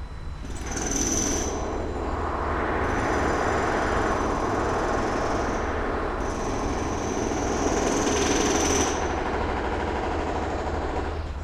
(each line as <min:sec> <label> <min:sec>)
0:00.0 building work 0:11.4